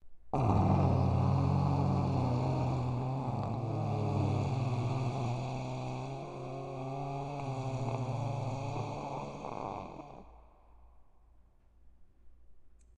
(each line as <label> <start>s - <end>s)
Growl 0.3s - 10.6s